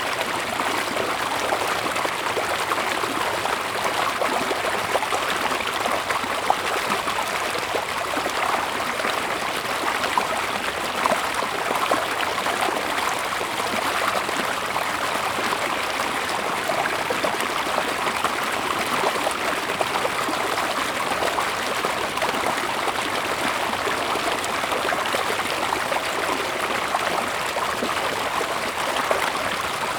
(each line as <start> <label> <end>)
0.0 Flowing stream 29.9